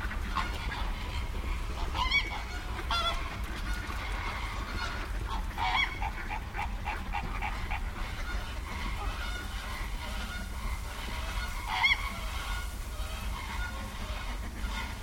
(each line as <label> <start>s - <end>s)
ducks 0.0s - 15.0s
flamingos 0.0s - 15.0s